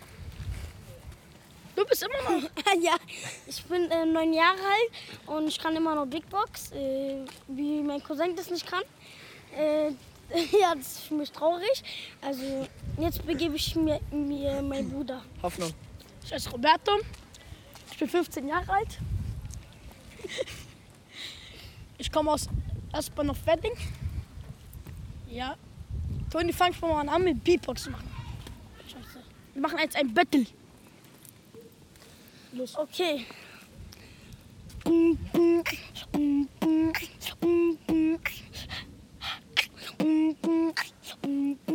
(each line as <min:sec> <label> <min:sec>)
0:34.8 Beatbox battle 0:41.7